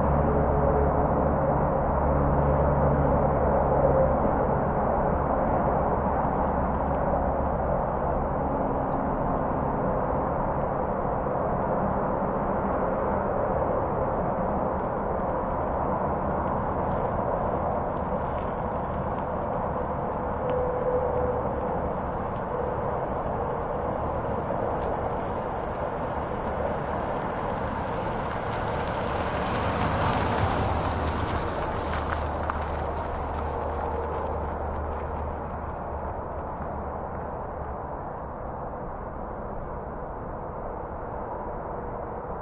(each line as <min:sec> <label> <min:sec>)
0:00.0 highway traffic distant 0:38.8
0:00.0 airplane pass overhead 0:42.4
0:13.8 slow car pass by 0:37.3